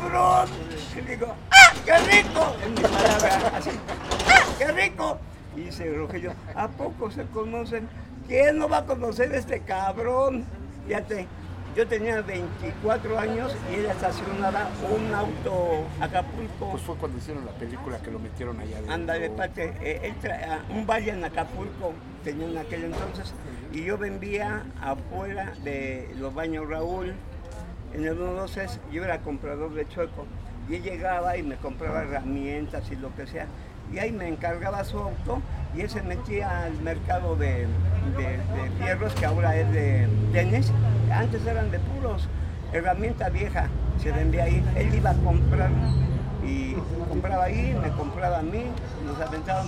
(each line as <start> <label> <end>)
0.0 famoso grito 6.8